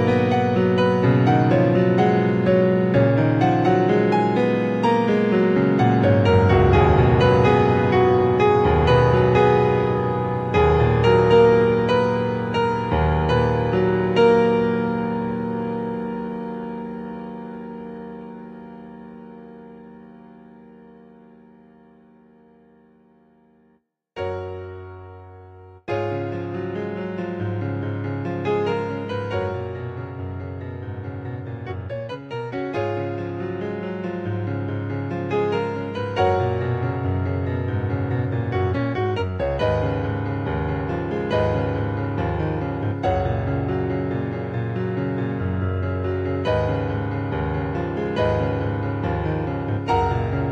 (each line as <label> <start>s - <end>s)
music 0.0s - 50.5s